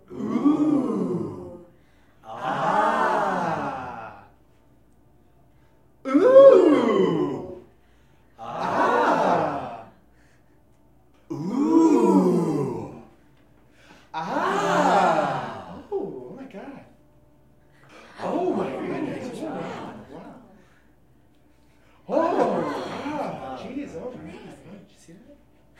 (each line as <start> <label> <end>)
2.2 Crowd Ooohs and Ahhhs in Excitement 4.3
6.1 Crowd Ooohs and Ahhhs in Excitement 7.6
8.4 Crowd Ooohs and Ahhhs in Excitement 10.0
14.1 Crowd Ooohs and Ahhhs in Excitement 15.9